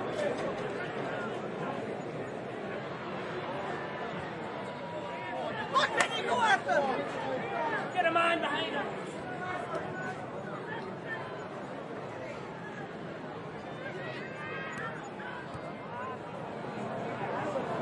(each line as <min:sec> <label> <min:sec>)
0:04.9 cheers 0:07.4
0:05.3 shouting 0:07.1